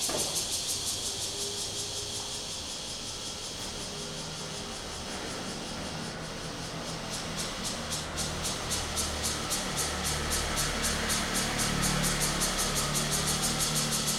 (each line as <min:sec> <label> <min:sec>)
0:00.0 Cicadas sound 0:14.1
0:00.0 traffic sound 0:14.1